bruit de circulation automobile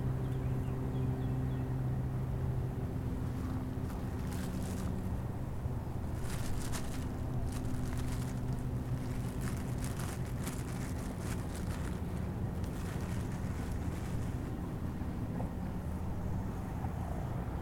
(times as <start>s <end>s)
2.2s 15.4s